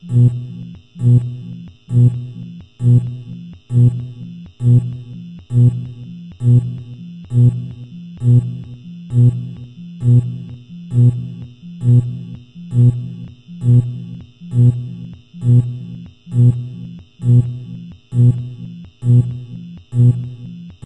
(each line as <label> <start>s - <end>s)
futuristic alarm sound 0.0s - 20.8s